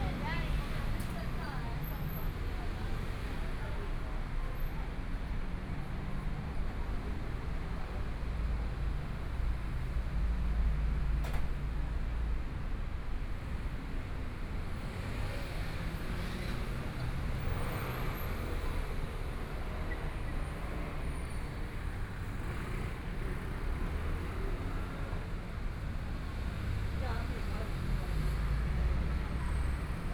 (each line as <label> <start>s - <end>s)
Traffic Sound 13.2s - 30.1s